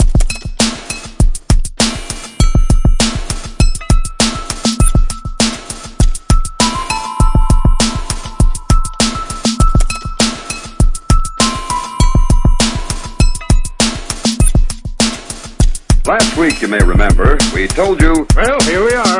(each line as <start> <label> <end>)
0.0 Minimal Techno beat 19.1
16.1 voice sample tagged on end 19.1